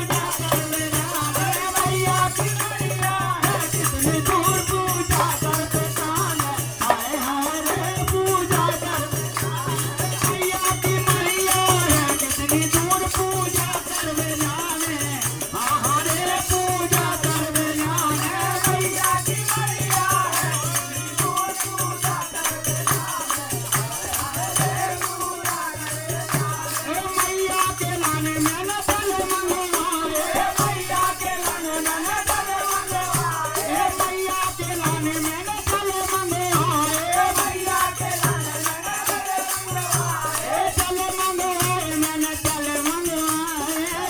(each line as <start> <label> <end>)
0.0 group of men sings in a very small temple 44.0